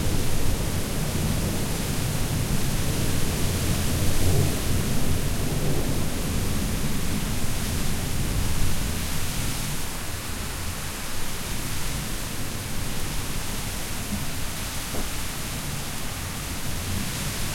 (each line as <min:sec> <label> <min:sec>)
0:00.0 heavy rain 0:17.5
0:00.0 wind 0:17.5